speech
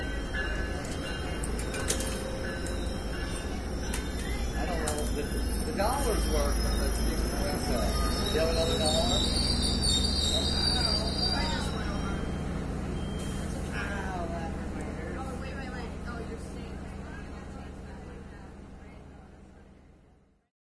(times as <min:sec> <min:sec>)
0:04.2 0:09.4, 0:10.3 0:12.4, 0:13.7 0:20.5